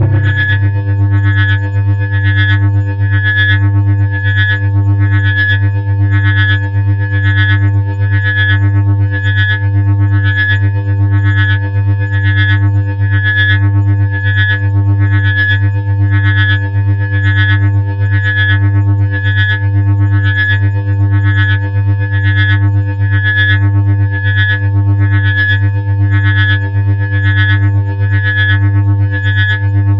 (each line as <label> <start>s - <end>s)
Drone Hover 0.0s - 1.0s
drone mining 0.0s - 1.4s